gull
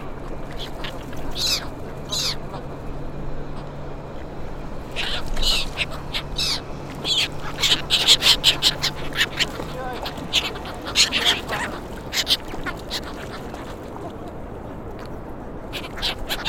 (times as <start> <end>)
0.0 2.7, 4.9 14.3, 15.7 16.4